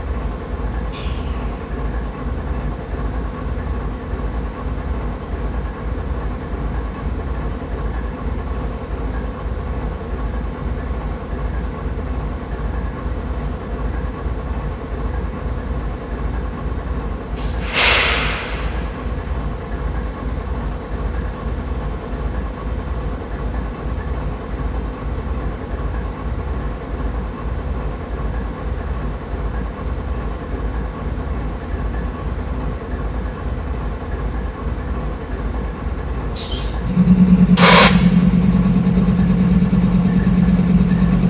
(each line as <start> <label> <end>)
0.3 Freight Engine 5.8
17.4 Freight Engine 41.2